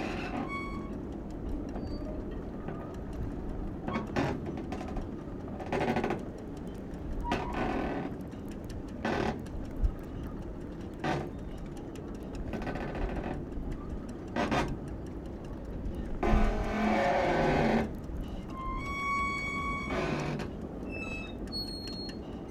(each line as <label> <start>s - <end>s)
Squeaking metal constructions 0.0s - 1.0s
Flag masts are ticking 0.0s - 22.5s
Squeaking metal constructions 16.2s - 22.5s